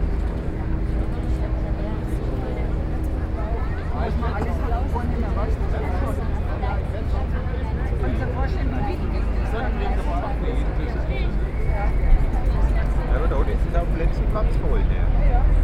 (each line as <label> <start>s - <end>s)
Boat 0.0s - 15.6s